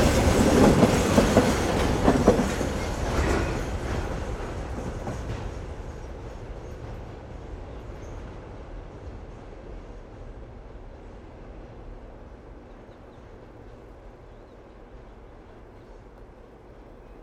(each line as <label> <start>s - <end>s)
empty train cars arrive 0.0s - 17.2s